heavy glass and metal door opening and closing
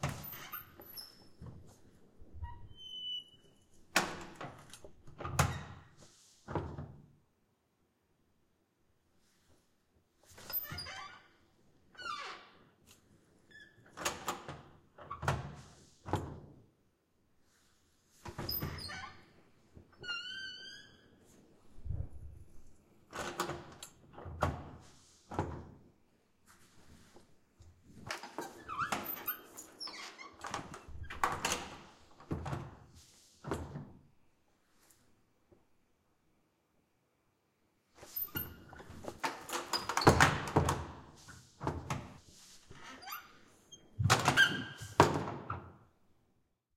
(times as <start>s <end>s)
38.3s 41.0s, 44.0s 45.7s